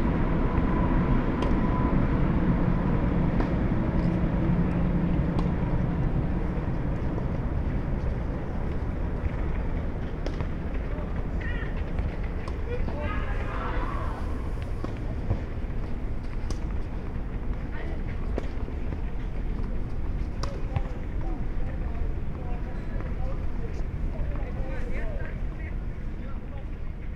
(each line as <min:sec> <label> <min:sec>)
0:00.0 trains 0:20.4
0:00.0 soccer and tennis training 0:27.1